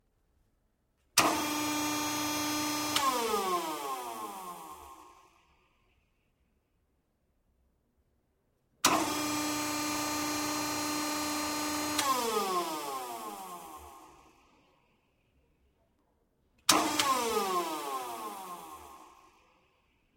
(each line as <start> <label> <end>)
1.2 hydraulic pump and motor 5.4
8.8 hydraulic pump and motor 14.5
16.7 hydraulic pump and motor 19.6